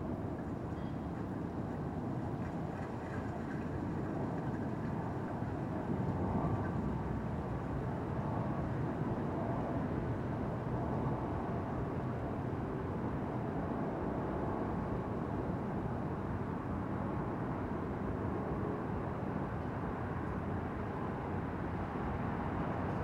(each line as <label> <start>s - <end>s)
airplane flies over 0.0s - 23.0s
Light traffic noise 16.2s - 23.0s